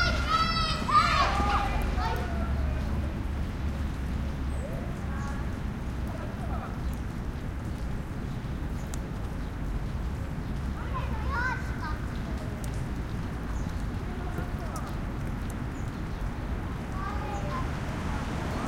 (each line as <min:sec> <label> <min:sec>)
0:00.0 kids 0:03.3
0:00.0 birds 0:18.6
0:00.0 drip of rain from a tree above 0:18.6
0:00.0 light rain almost mist 0:18.6
0:00.0 traffic 0:18.6